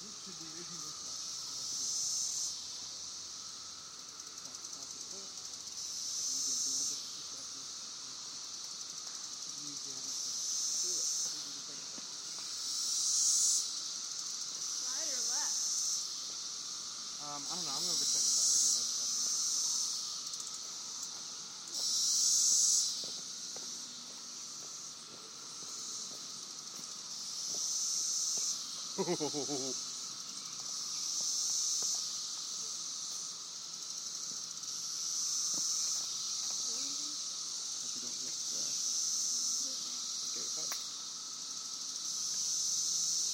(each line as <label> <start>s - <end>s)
Cicadas 0.0s - 43.3s
footsteps 23.0s - 26.9s